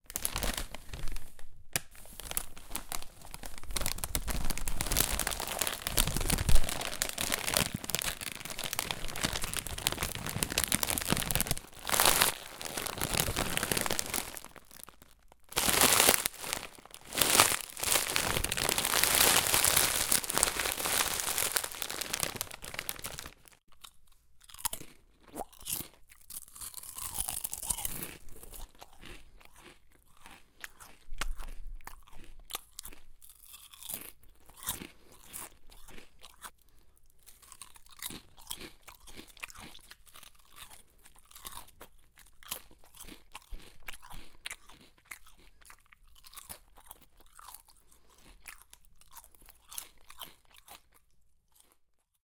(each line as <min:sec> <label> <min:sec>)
0:00.0 Bag of chips compressed and crushed 0:23.6
0:02.4 eating chips 0:52.2
0:26.3 Bag of chips compressed and crushed 0:30.2